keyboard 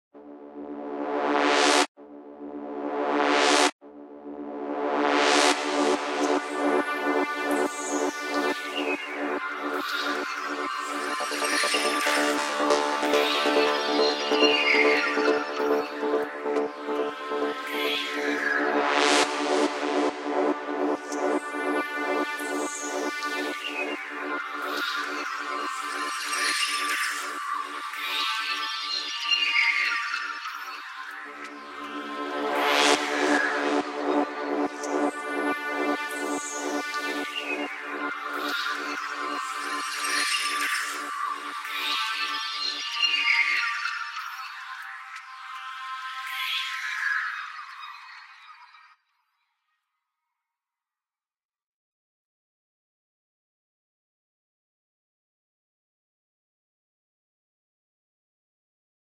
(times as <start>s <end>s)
5.2s 26.2s, 30.7s 43.8s